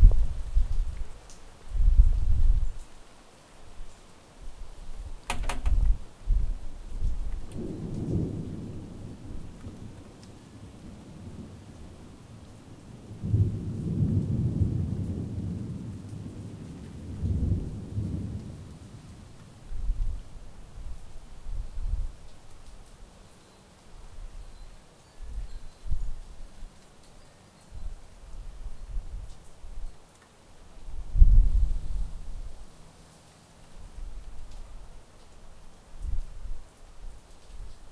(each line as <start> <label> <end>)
0.0 rain 37.9
7.5 thunder 10.0
13.2 thunder 18.7